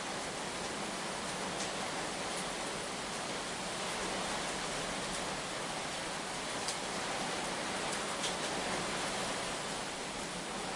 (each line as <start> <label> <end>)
0.0 Heavy rain 10.7